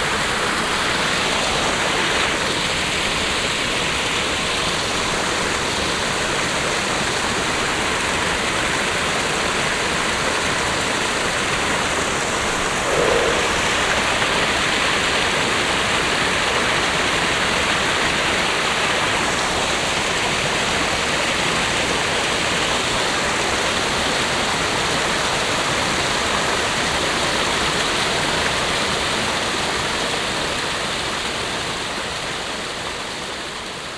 0.0s vivid fast stream 22.2s

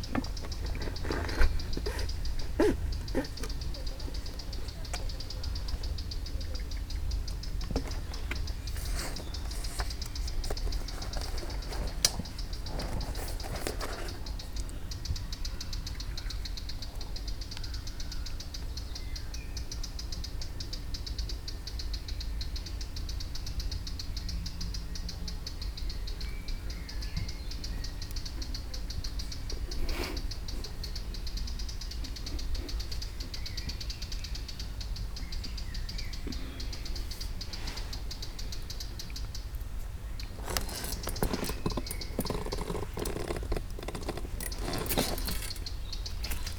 0.0s insects buzzing 15.1s
0.0s birds chirping on the trees 46.5s
27.0s insects buzzing 46.5s
40.4s neighbor drilling with his tools 45.6s

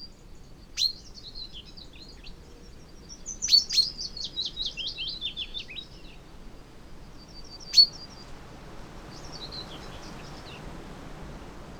0.0s background noise 11.7s

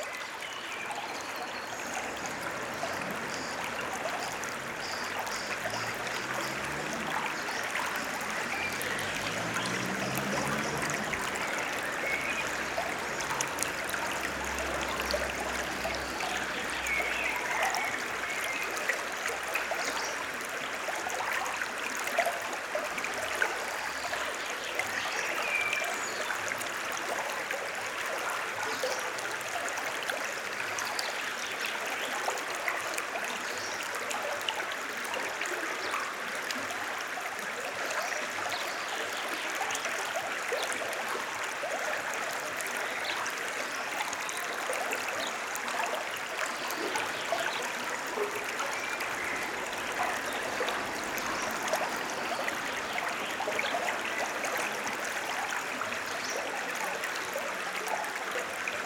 8.1s occasional vehicular traffic 15.8s

